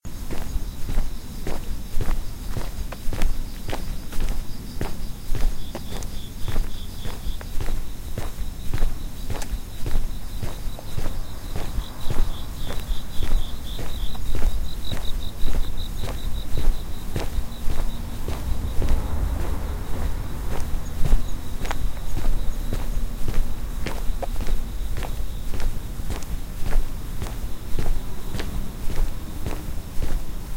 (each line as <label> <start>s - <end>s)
cricket 0.1s - 30.5s
footsteps 0.2s - 30.5s